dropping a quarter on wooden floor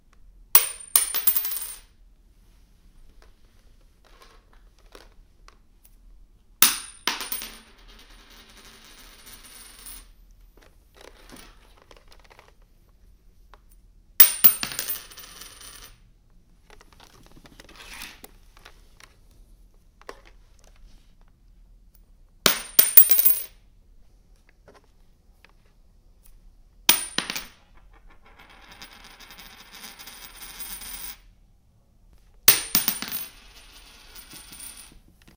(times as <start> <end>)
0.6 1.9, 6.6 10.1, 14.2 16.0, 22.5 23.5, 26.9 31.2, 32.5 35.0